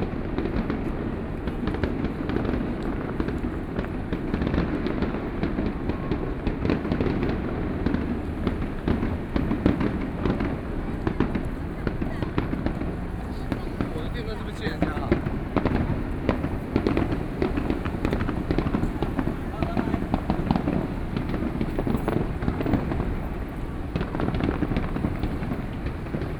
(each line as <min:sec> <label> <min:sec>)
0:00.0 Fireworks sound 0:26.3
0:00.4 Traffic Sound 0:26.3